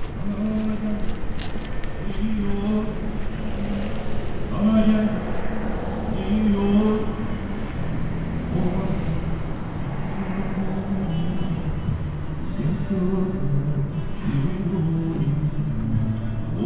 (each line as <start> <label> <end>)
0.0 traffic passing by 16.6
6.4 Music 16.6